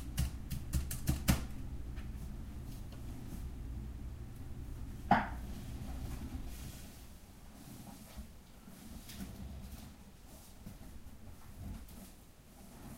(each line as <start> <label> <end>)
0.0 person typing on typewriter 1.5